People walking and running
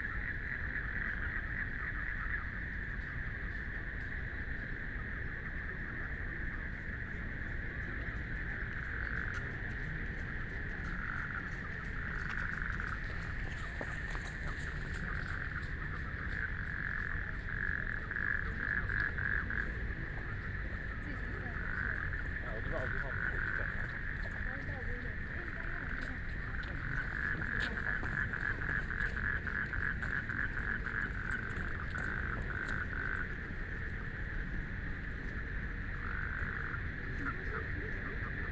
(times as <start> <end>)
8.7 34.4